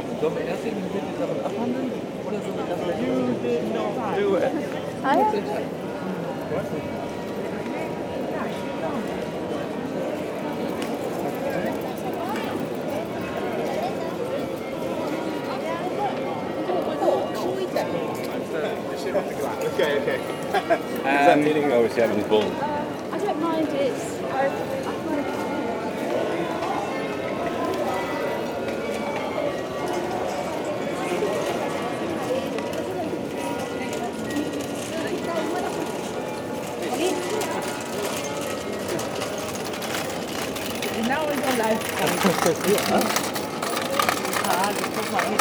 persons walking with small scooters, on the cobblestones 0:00.0 - 0:45.4

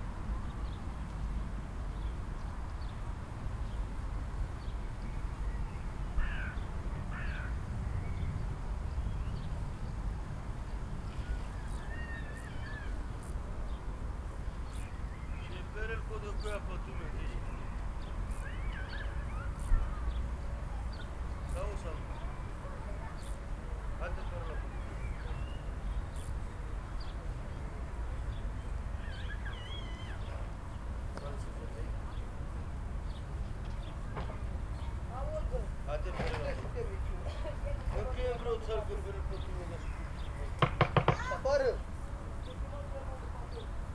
children are playing 0:41.0 - 0:41.6

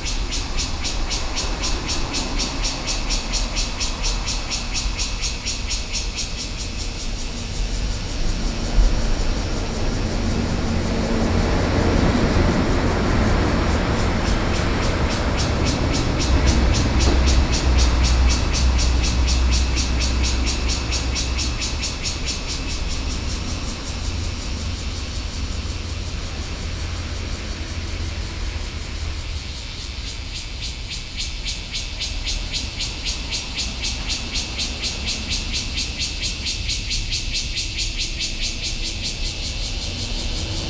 Cicadas cry 0:00.0 - 0:40.6

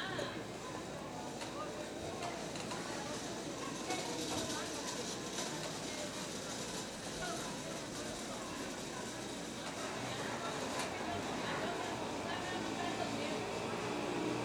street vendors with handcarts 0:02.3 - 0:14.4

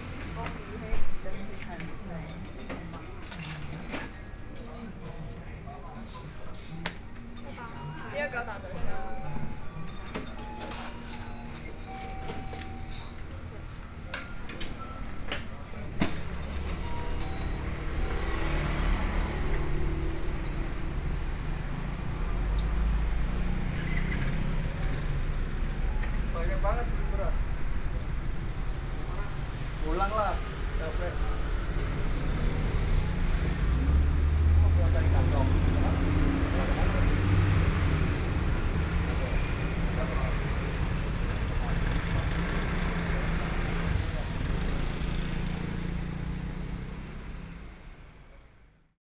walking in the street 0:00.0 - 0:48.8

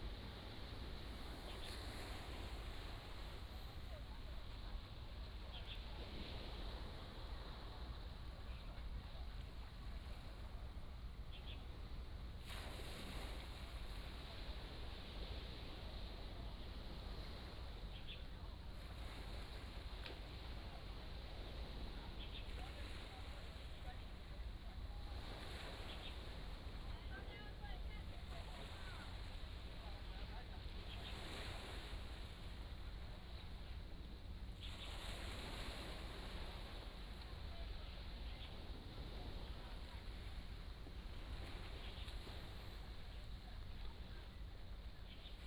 waves 0:00.0 - 0:45.4

